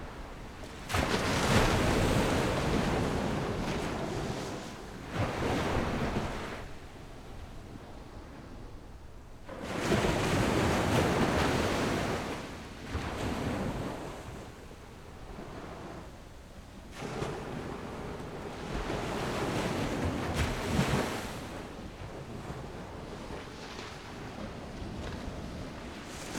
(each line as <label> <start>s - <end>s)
waves 0.0s - 26.3s